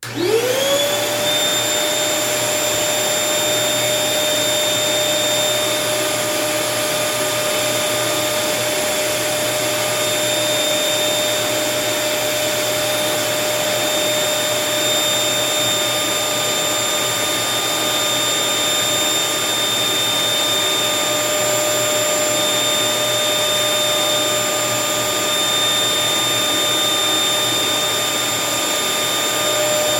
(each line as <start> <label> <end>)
0.0 vacuum cleaner turning on, running and turning off 29.9